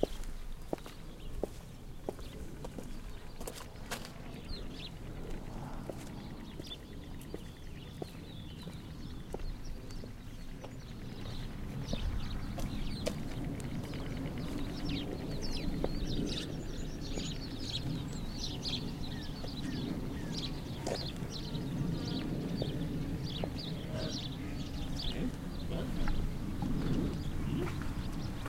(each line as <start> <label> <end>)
0.0 footsteps on concrete 4.2
0.0 Bird calls 28.4
5.9 footsteps on concrete 14.6
17.7 roar of a distant car 28.4